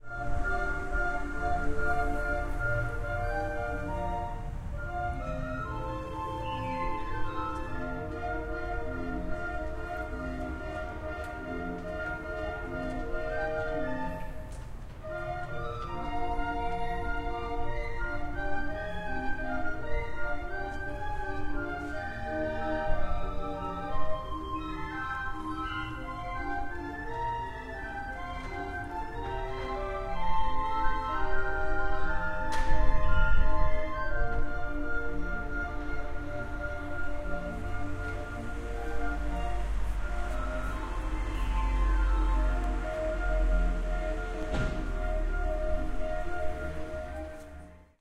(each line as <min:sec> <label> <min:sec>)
0:00.0 wind 0:48.0